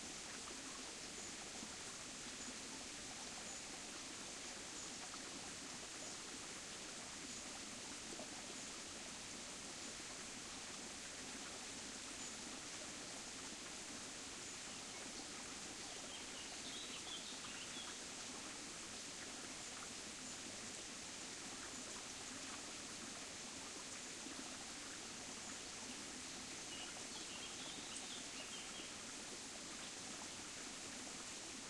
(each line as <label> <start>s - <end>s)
small creek flows over pebbles and around rocks 0.0s - 31.6s
Occasional birdsong 15.8s - 18.0s
Occasional birdsong 26.7s - 28.9s